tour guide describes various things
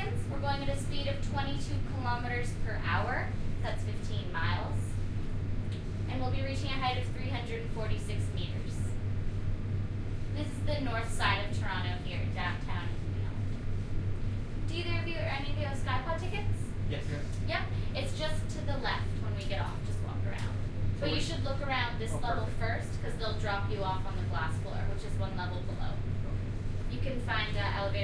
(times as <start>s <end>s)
16.9s 17.3s